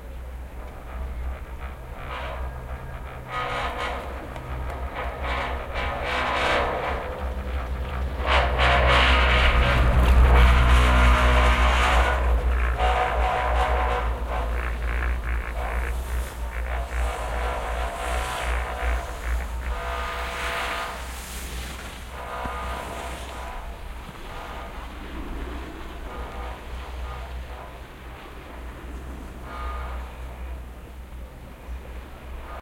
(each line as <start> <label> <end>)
0.0 riding up a chair lift 32.6